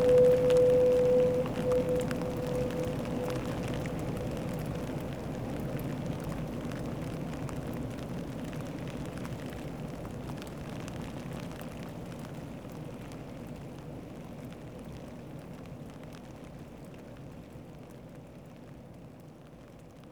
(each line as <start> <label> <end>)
0.0 Foghorn 5.4
0.0 rain 20.1